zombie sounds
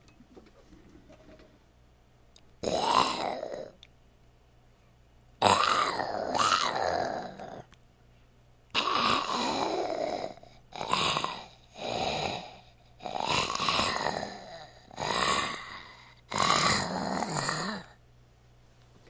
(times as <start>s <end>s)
2.6s 3.8s, 5.4s 7.7s, 8.8s 17.9s